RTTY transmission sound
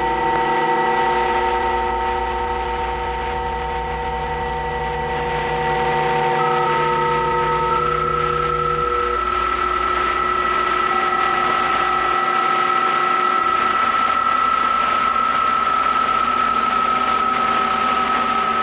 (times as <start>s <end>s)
6.1s 18.6s